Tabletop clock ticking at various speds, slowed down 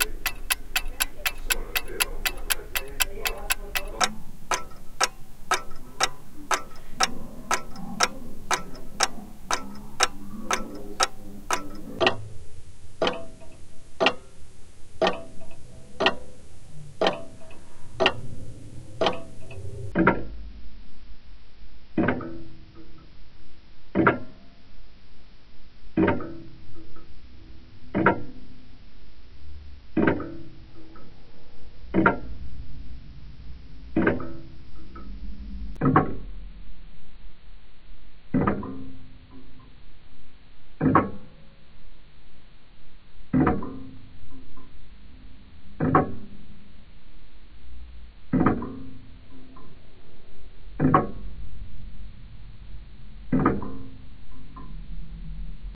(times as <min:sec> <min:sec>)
0:00.0 0:12.2, 0:14.0 0:14.4, 0:15.0 0:16.4, 0:17.0 0:18.3